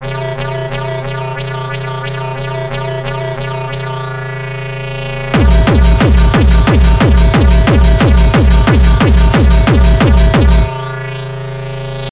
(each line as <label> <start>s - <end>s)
melodie 0.0s - 11.9s
basssline 0.0s - 12.1s